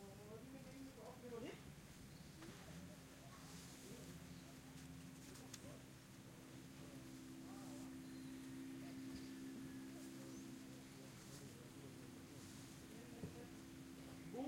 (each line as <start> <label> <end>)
0.0 small talk 14.4
7.1 birds 12.4